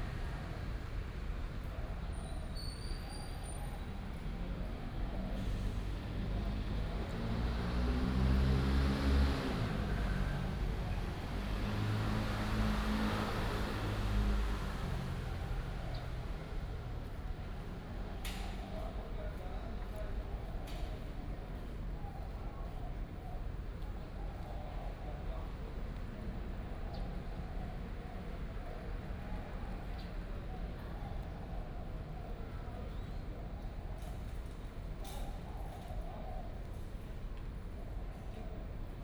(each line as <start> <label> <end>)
5.4 Traffic Sound 18.1